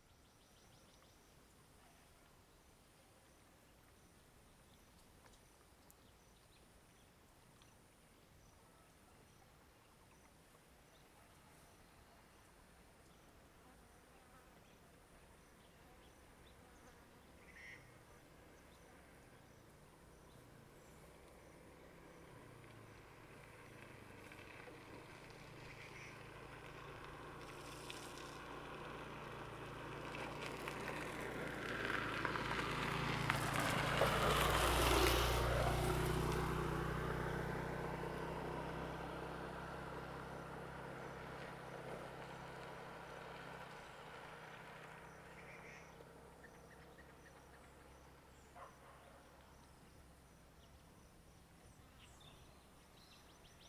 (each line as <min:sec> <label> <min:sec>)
0:18.3 traffic sound 0:52.0
0:48.6 Dog barking 0:49.4